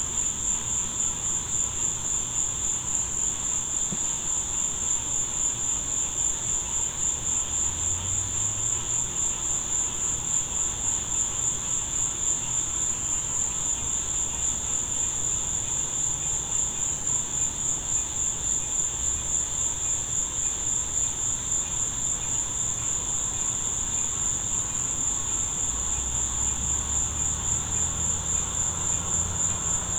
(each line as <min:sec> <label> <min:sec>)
0:00.0 crickets 0:29.9
0:00.0 insects 0:29.9
0:00.1 frogs 0:29.9
0:24.5 passing, distant traffic 0:29.9